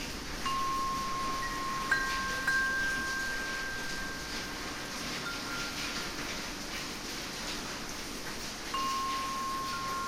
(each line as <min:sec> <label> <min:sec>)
0:00.0 rain 0:10.0
0:00.0 wind 0:10.0
0:00.4 wind chimes 0:06.4
0:08.7 wind chimes 0:10.0